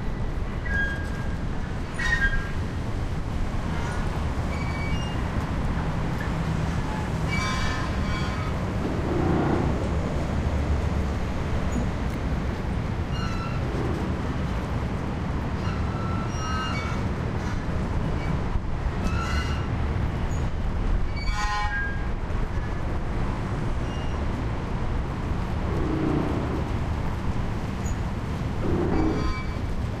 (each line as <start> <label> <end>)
6.6 Moored Boat Metal Grinding, Groaning & Creaking 10.4
15.6 Moored Boat Metal Grinding, Groaning & Creaking 17.7
25.4 Moored Boat Metal Grinding, Groaning & Creaking 29.9